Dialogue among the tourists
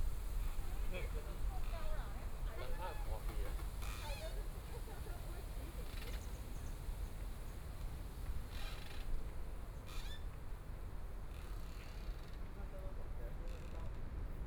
0.3s 7.0s

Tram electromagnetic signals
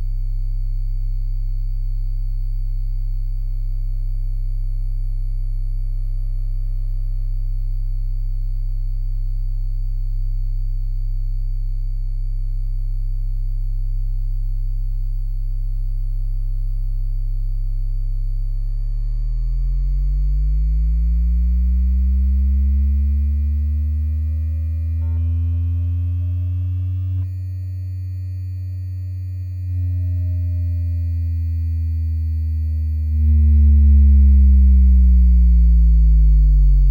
18.8s 36.9s

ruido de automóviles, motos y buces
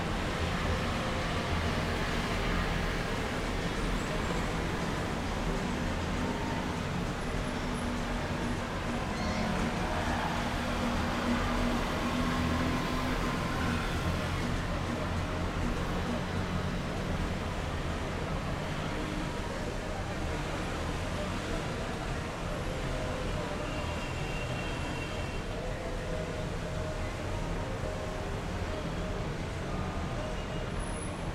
0.0s 22.3s

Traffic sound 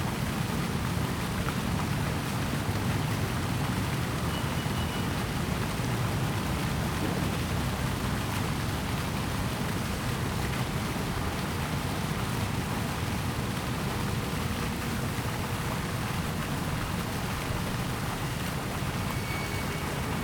13.4s 20.2s

